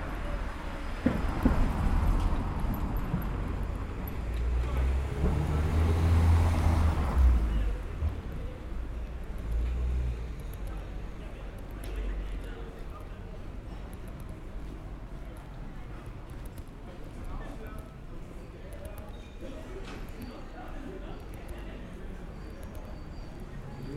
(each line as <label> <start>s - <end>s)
walking down the street 0.0s - 23.9s